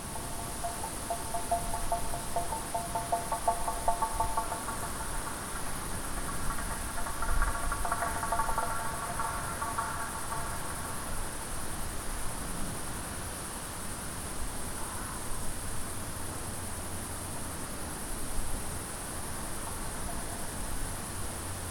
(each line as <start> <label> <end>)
0.0 wind rattle 12.2
0.0 crickets 21.7